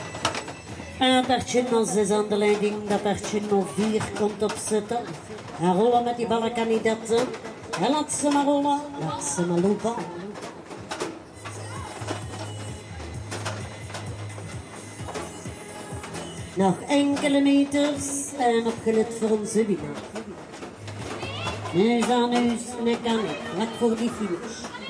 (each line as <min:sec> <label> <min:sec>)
0:00.0 mechanical horse game 0:24.8
0:19.8 crowd 0:24.8